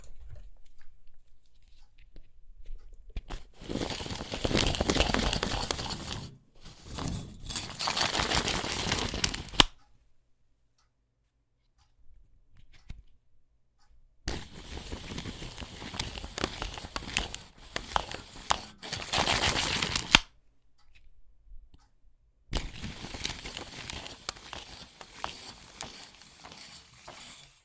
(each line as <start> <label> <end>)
3.6 tape measure 9.8
14.3 tape measure 20.3
22.6 tape measure 27.6